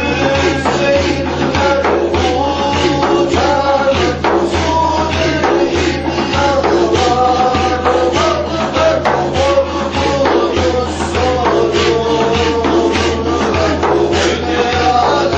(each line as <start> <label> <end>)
0.0 Sufi song 15.3